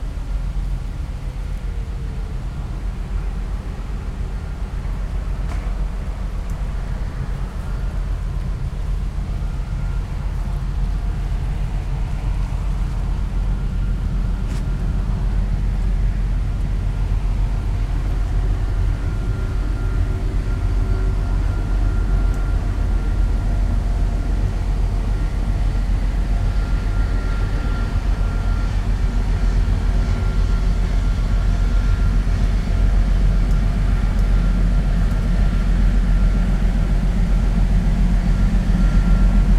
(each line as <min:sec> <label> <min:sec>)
0:00.0 cargo ship is passing downstream 0:39.5